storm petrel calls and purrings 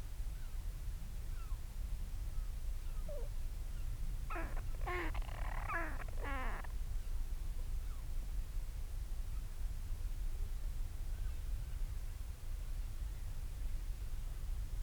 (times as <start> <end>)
4.3 6.7